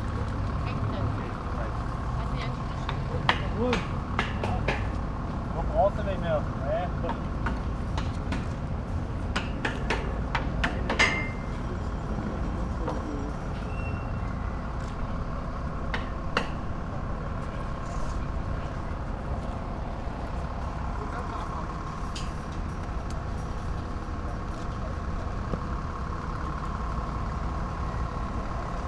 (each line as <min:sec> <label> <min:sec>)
0:07.0 workers securing the process 0:26.8